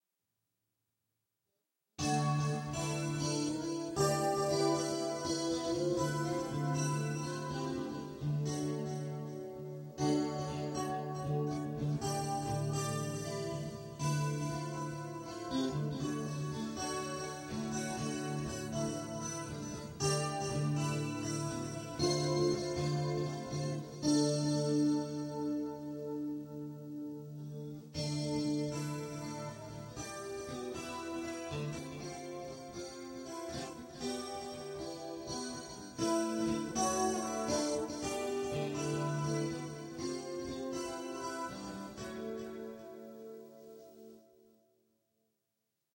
Soft guitar picking on a slightly processed Stratocaster 0:02.0 - 0:44.5

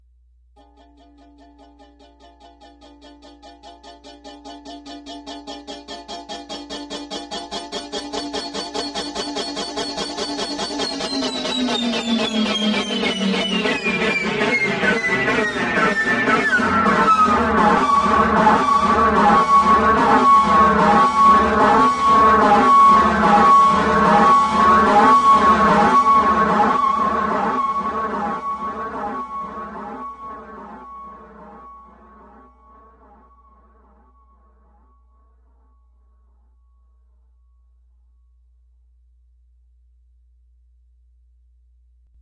Ukulele with a boss chorus and delay pedal 0:00.6 - 0:32.3

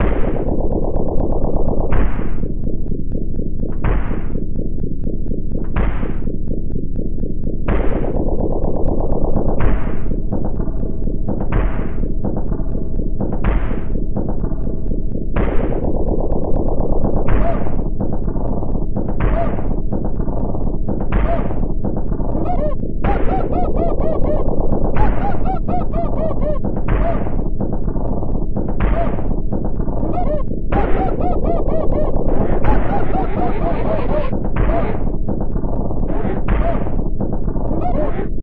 bass 0:00.0 - 0:38.4
drum 0:00.0 - 0:38.4
synth 0:14.6 - 0:38.4

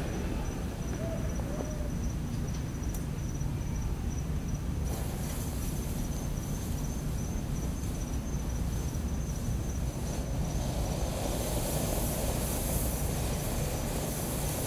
Fireworks 0:04.8 - 0:14.6

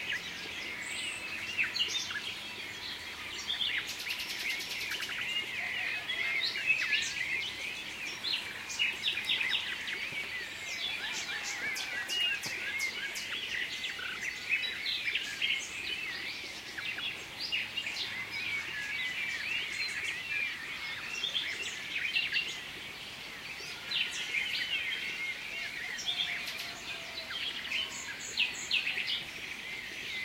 Blackbird 0:00.0 - 0:30.2
nightingale 0:00.0 - 0:30.2

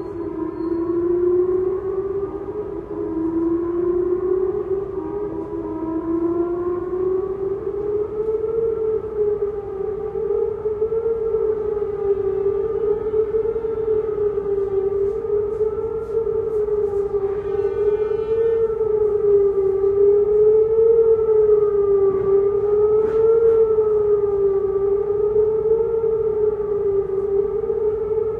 Rocket alarm 0:00.0 - 0:28.3

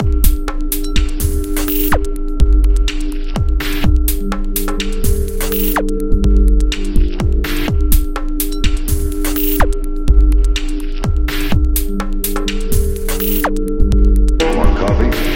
Techno beat 0:00.0 - 0:15.3
voice sample 0:14.4 - 0:15.3

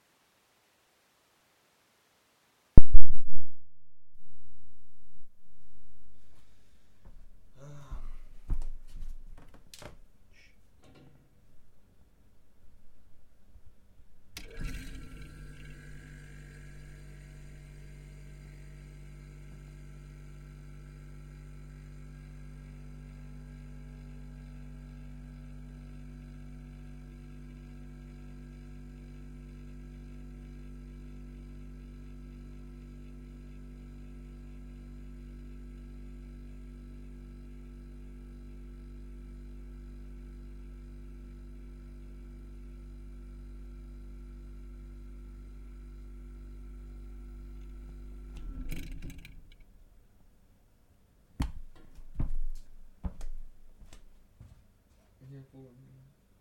Old soviet fridge 0:06.1 - 0:50.5
Old soviet fridge 0:51.2 - 0:55.2

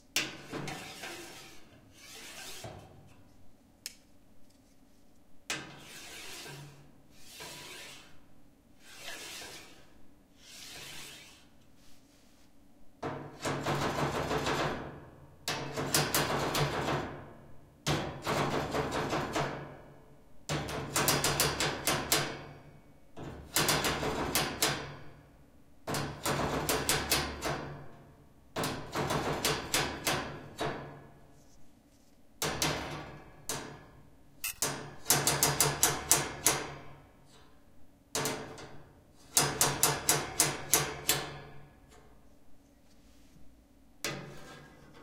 metal ruler 0:00.2 - 0:03.2
metal ruler 0:05.5 - 0:08.2
metal ruler 0:08.8 - 0:11.5
metal ruler 0:34.4 - 0:36.8

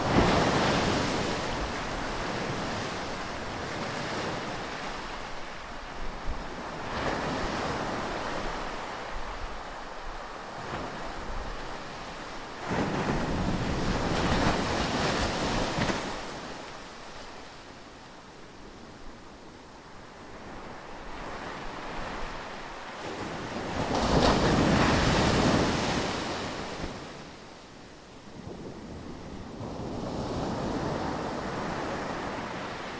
waves at sandy beach 0:00.0 - 0:32.9

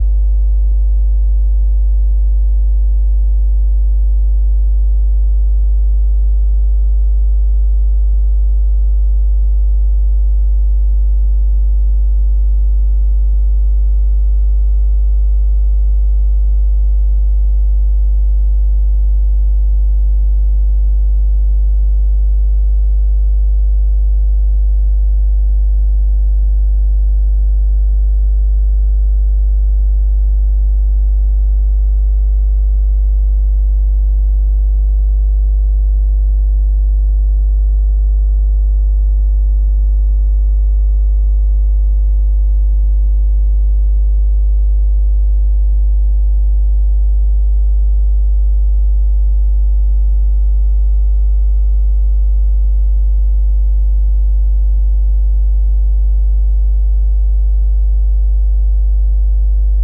50Hz electric hum 0:00.0 - 0:31.2
50Hz electric hum 0:31.8 - 0:34.2

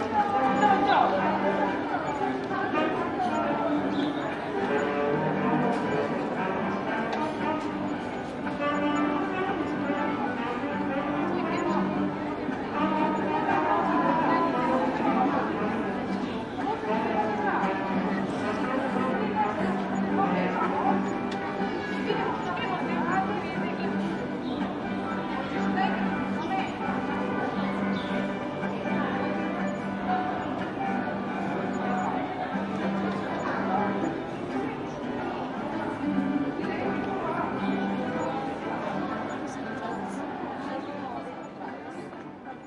music 0:00.0 - 0:42.6
people 0:00.0 - 0:42.6

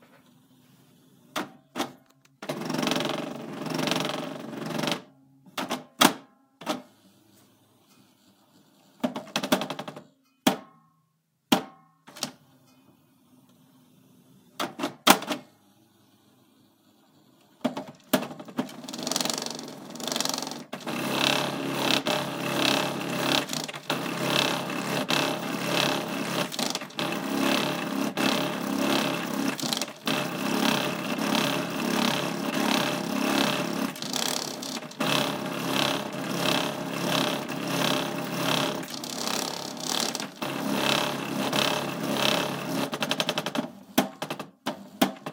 Broken printer trying to print 0:17.6 - 0:43.6

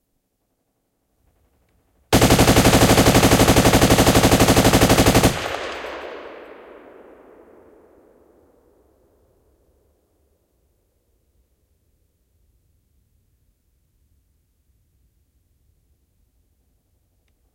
machine gun with an accelerator 0:02.2 - 0:05.8

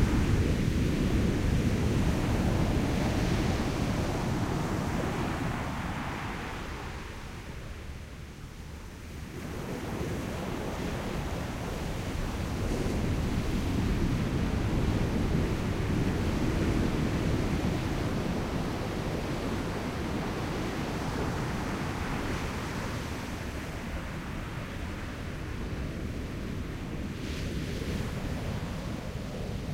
waves on sand 0:09.2 - 0:29.7

